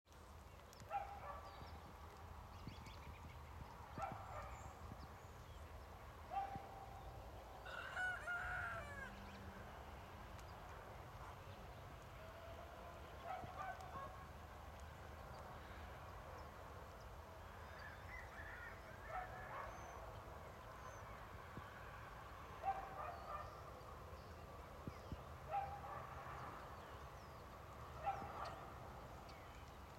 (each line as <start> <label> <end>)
0.8 dogs 1.7
4.0 dogs 4.8
6.3 dogs 7.1
7.6 rooster 9.3
13.2 dogs 14.3
17.8 rooster 19.5
19.0 dogs 20.0
22.6 dogs 23.6
25.5 dogs 26.4
28.0 dogs 28.7